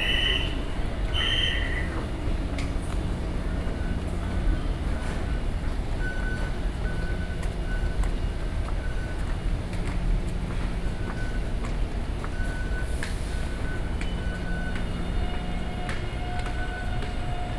walking in the MRT stations 0.0 - 17.5

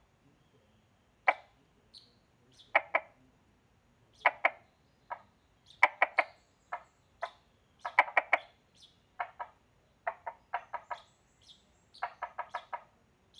Bird sounds 0.2 - 3.3
Bird sounds 4.0 - 13.3
Frogs chirping 4.2 - 13.0

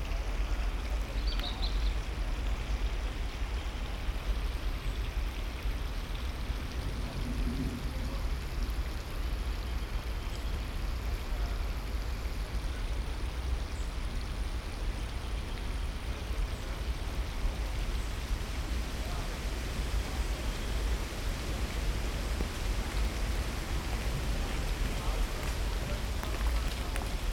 Stream 0.0 - 27.3
wind in trees 0.0 - 27.3
voices 18.0 - 27.3
Acorns falling in the woods 24.6 - 27.3

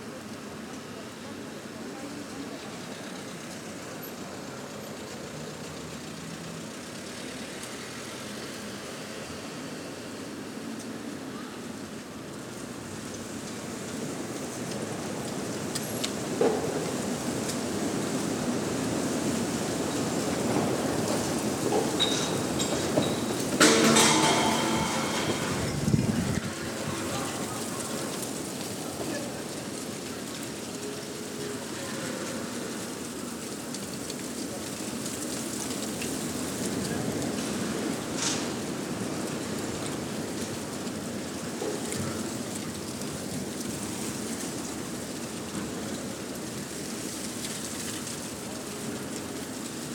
Storm Eunice 11.2 - 49.9

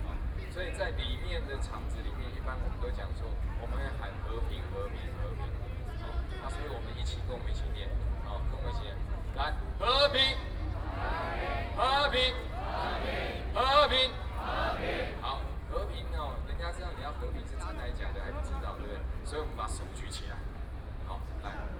Speech 0.0 - 14.4
Speech 15.1 - 21.7

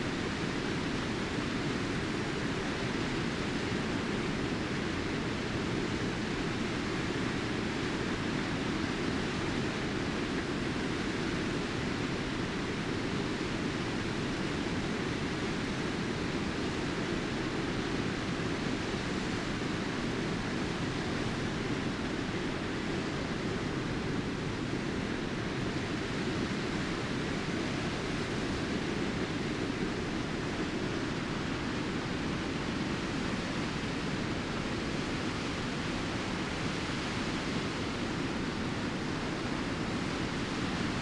Water rolling continuously over the weir 0.0 - 41.0

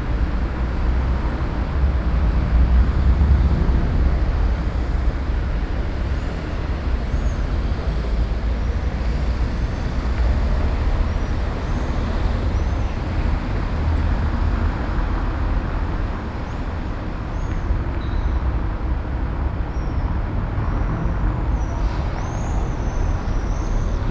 trams 0.0 - 24.1

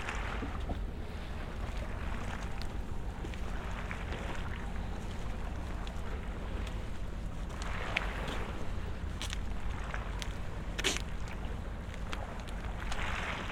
walk on the spur 0.2 - 13.4

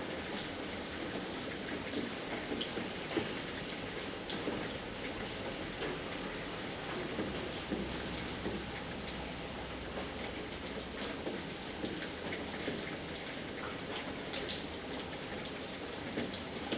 Rain 0.0 - 16.7

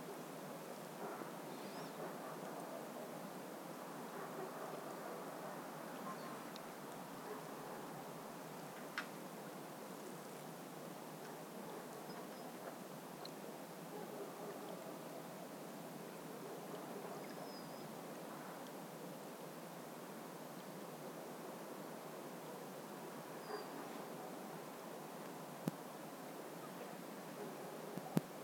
dogs in the distance 1.0 - 3.1
dogs in the distance 4.0 - 6.6
dogs in the distance 7.2 - 8.2
dogs in the distance 11.2 - 12.8
dogs in the distance 13.9 - 15.5
dogs in the distance 16.4 - 18.7
dogs in the distance 22.6 - 24.5
dogs in the distance 26.6 - 28.3

